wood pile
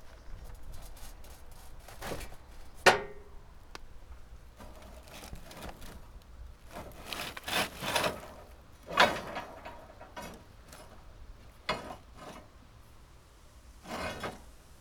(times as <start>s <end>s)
4.6s 11.1s